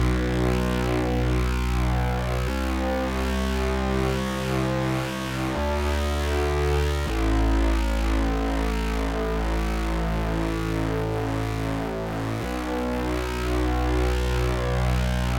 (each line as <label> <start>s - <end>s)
Lead played by hand with the minibrute synthetizer 0.0s - 15.3s